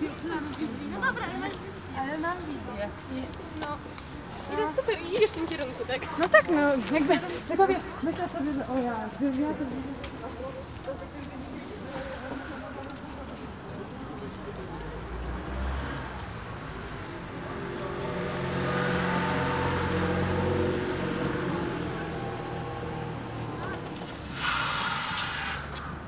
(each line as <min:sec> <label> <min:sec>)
0:00.0 amateur soccer match played on a community field 0:26.0